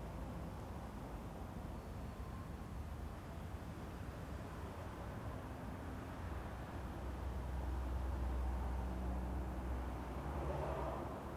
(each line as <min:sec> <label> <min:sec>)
0:00.0 trains 0:11.3
0:08.1 cars in the background 0:11.3